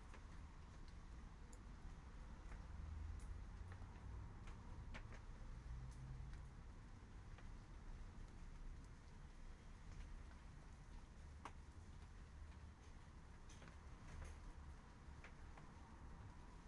Rain 0.0 - 16.6

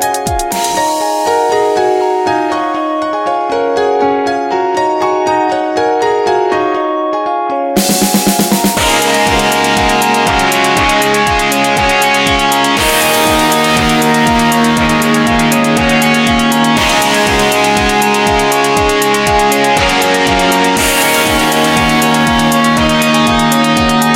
guitar 0.0 - 24.1

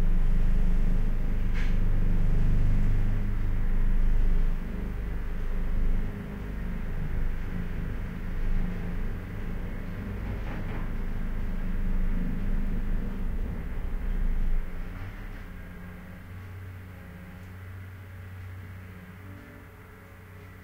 rumble 0.0 - 20.6
clock 15.9 - 20.6

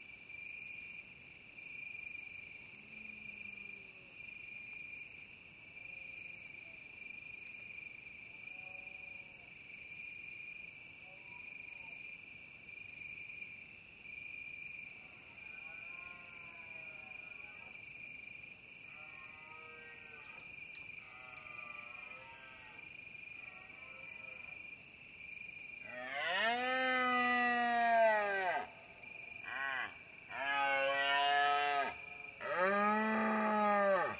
bellows of deers 25.9 - 28.7
bellows of deers 29.4 - 34.1

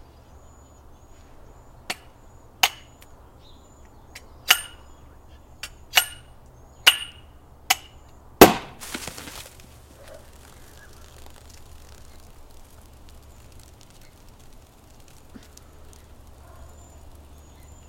drips onto the ground 8.8 - 17.8

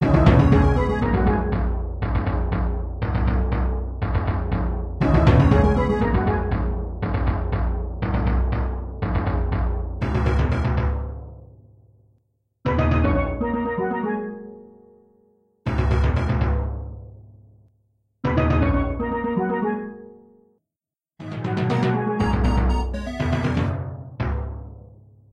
timpani 0.0 - 11.3
heavy beat 0.0 - 2.6
heavy beat 4.0 - 8.2
timpani 21.2 - 24.7
heavy beat 22.2 - 23.8

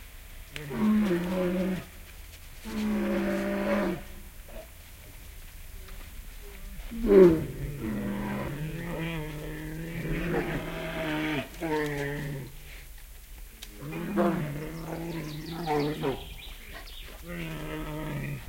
Bears eating and growling 13.7 - 18.4
birds in the bg 14.4 - 18.4

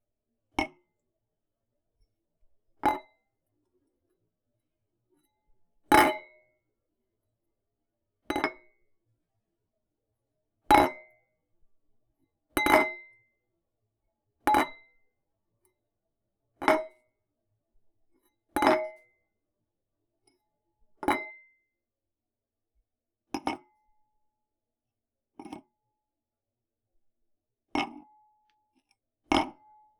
dropping/placing a small glass on a countertop 23.4 - 23.8
dropping/placing a small glass on a countertop 25.4 - 25.7
dropping/placing a small glass on a countertop 27.8 - 28.1
dropping/placing a small glass on a countertop 29.3 - 29.7

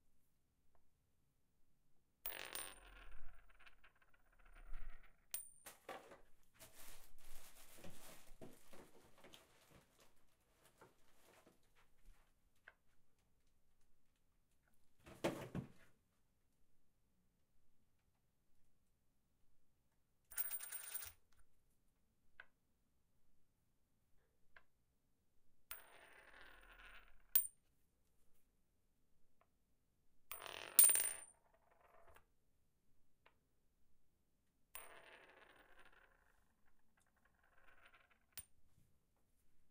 Coin Sounds 2.3 - 3.6
Coin Sounds 20.3 - 21.1
Coin Sounds 30.3 - 31.2

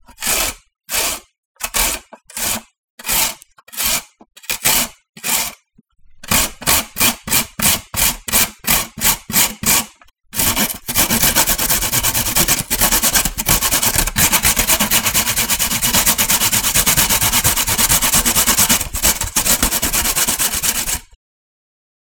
Carrot being grated at three different speeds 0.0 - 5.6
Carrot being grated at three different speeds 6.2 - 21.2
chopping 6.3 - 21.1

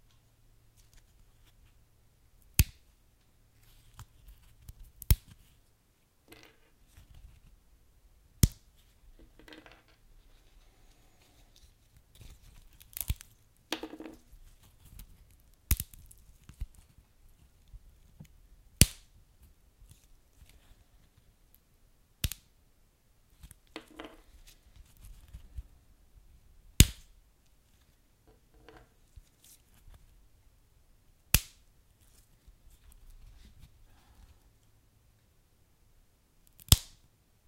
popping or crackling wood, log, or kindling burning in a fire 36.6 - 37.0

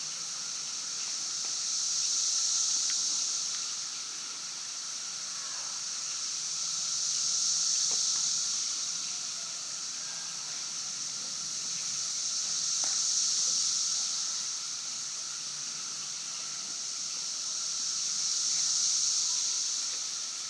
Cicadas 0.0 - 20.4

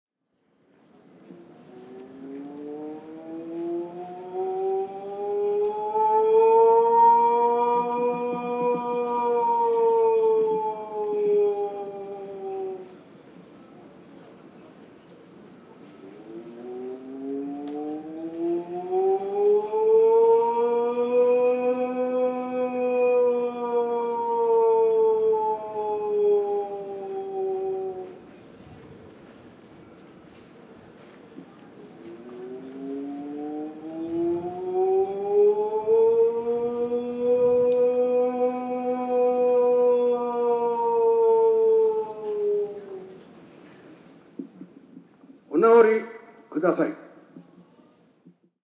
chanting/singing priest 1.8 - 13.0
chanting/singing priest 16.2 - 28.2
chanting/singing priest 32.0 - 43.2

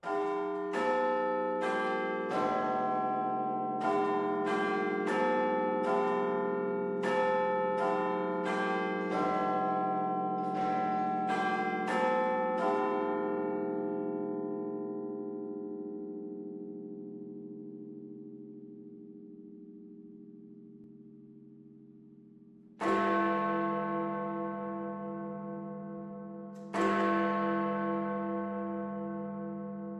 Big Ben Strikes 11 o'clock 0.0 - 13.4

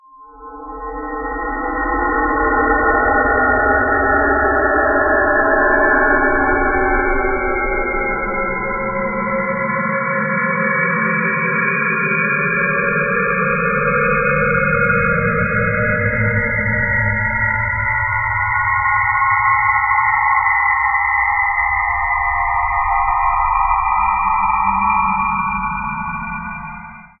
drone 0.1 - 27.2

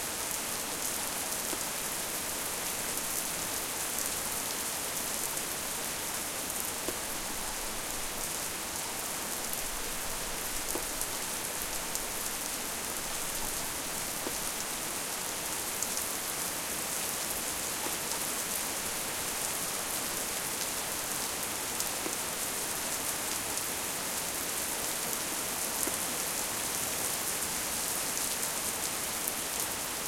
rain 0.0 - 30.0

